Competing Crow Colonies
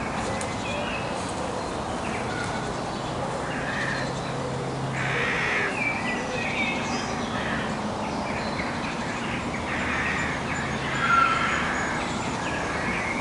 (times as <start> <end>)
1.0 6.1, 9.6 13.2